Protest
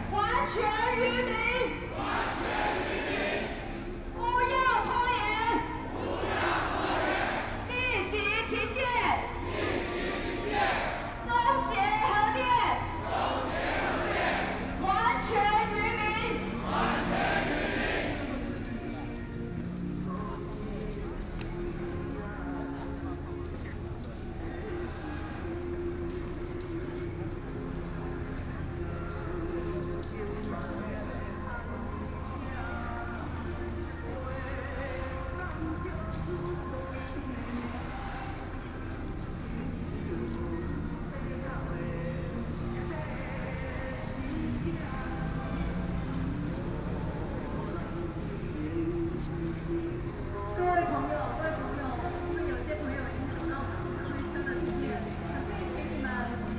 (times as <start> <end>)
0.0 18.7